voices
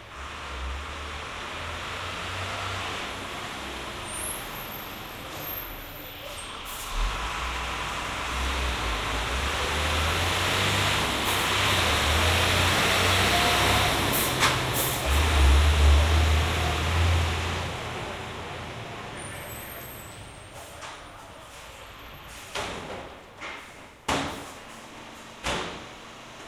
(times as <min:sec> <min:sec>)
0:04.1 0:07.2, 0:16.0 0:22.8